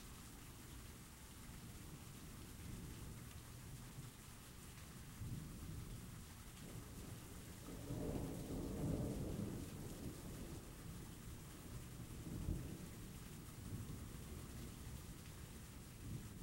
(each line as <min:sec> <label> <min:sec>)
0:00.0 rain 0:16.4
0:07.8 thunder 0:10.6